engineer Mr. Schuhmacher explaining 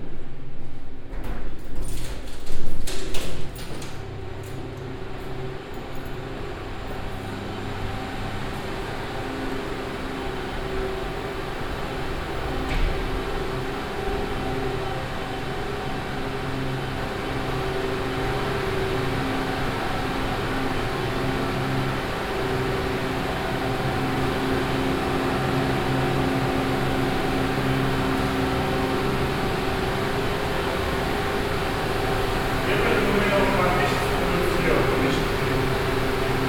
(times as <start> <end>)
32.6 35.8